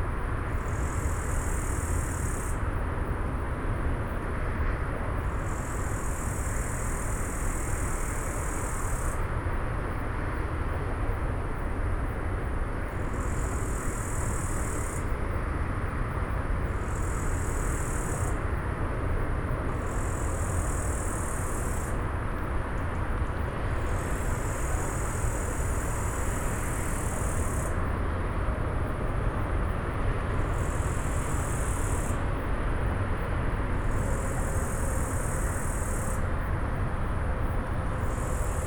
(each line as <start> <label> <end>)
0.0 cicada 38.6